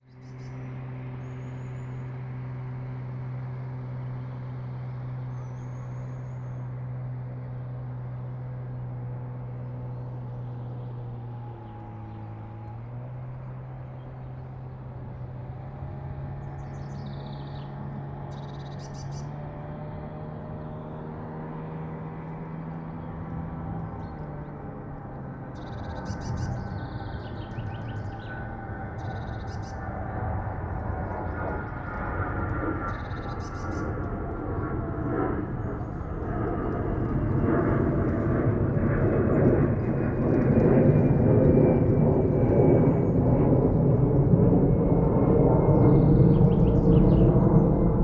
0.0s aircraft is heading south 48.0s
0.0s motor boat is passing by 48.0s

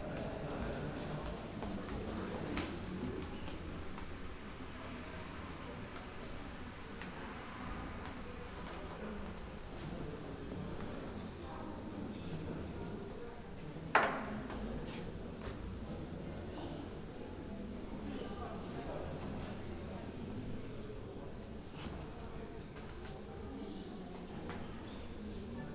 0.0s guests entering the church 25.7s

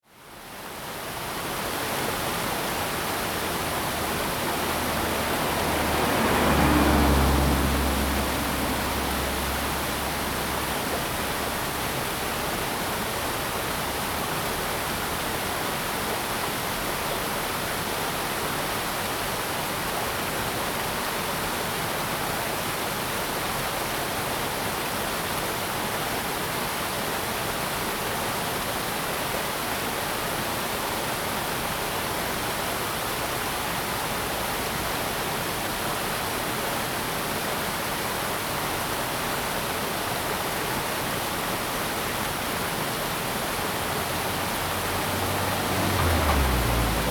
1.5s Streams 14.5s
1.7s traffic sound 15.5s
39.6s Streams 47.1s
40.1s traffic sound 47.1s

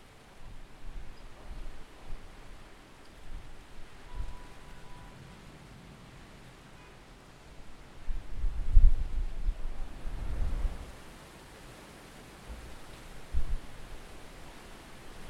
0.0s Storm 15.2s

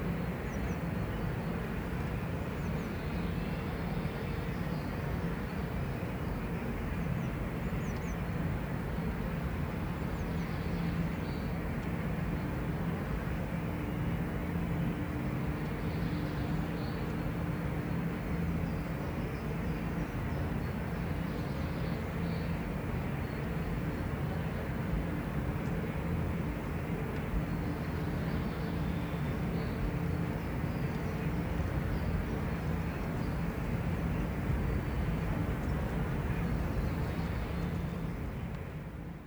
20.2s Pure air movements from the windgenerators 39.2s

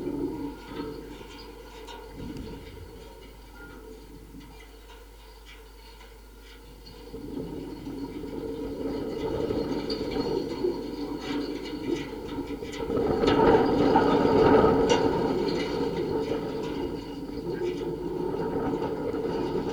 0.0s metal fence in wind 19.7s

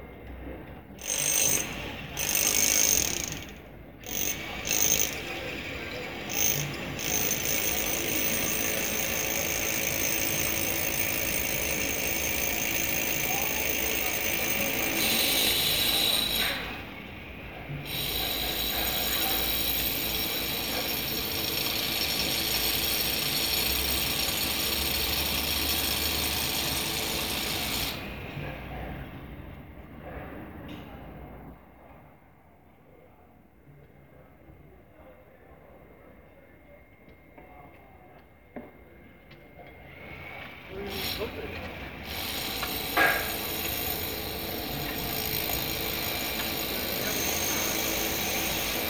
0.5s workers talking 31.2s
1.0s Jackhammers 16.8s
17.8s Jackhammers 28.1s
33.8s workers talking 48.8s
42.0s Jackhammers 48.8s

